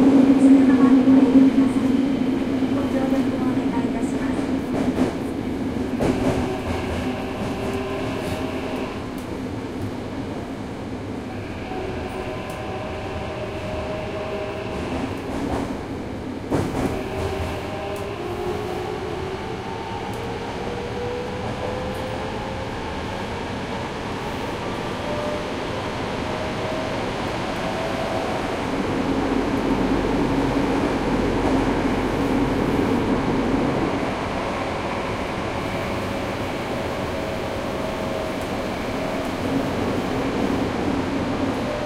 Train Station Engines 0:00.0 - 0:41.8

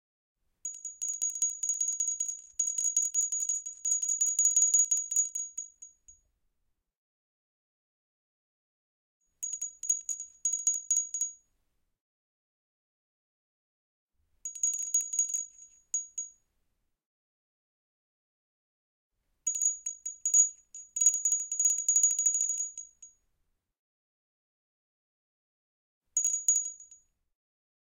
Tiny pottery bell 0:00.6 - 0:06.2
Tiny pottery bell 0:14.5 - 0:16.4
Tiny pottery bell 0:19.5 - 0:23.1
Tiny pottery bell 0:26.2 - 0:27.0

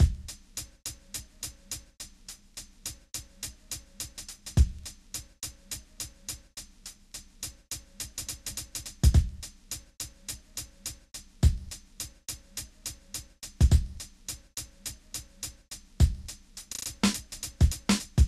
Composure Beat 2 0:00.0 - 0:18.2

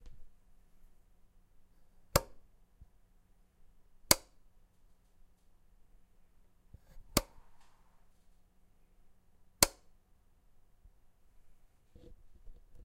Light Switch ON / OFF 0:02.1 - 0:02.4
Light Switch ON / OFF 0:04.1 - 0:04.4
Light Switch ON / OFF 0:07.1 - 0:07.4
Light Switch ON / OFF 0:09.6 - 0:09.9

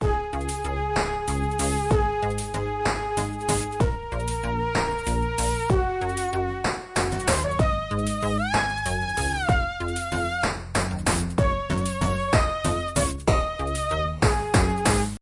synth loop in a 3/4 waltz 0:00.0 - 0:15.2

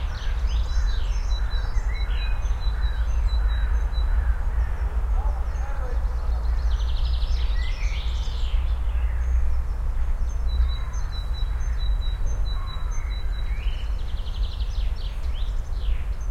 birds 0:00.0 - 0:16.3

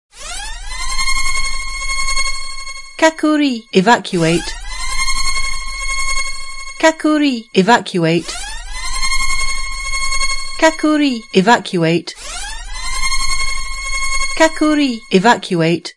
Japanese (Kakuri) announcement 0:03.0 - 0:04.5
Japanese (Kakuri) announcement 0:06.8 - 0:08.3
Japanese (Kakuri) announcement 0:10.6 - 0:12.2
Japanese (Kakuri) announcement 0:14.4 - 0:15.9

